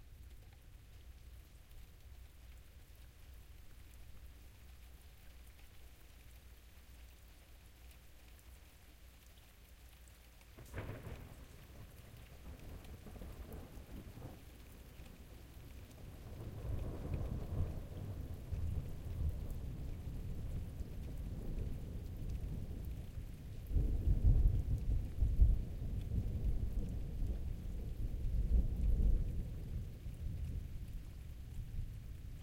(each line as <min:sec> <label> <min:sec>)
0:00.0 light rain 0:32.4
0:00.0 wind 0:32.4
0:10.6 Thunder, distant cracking and rolling 0:32.4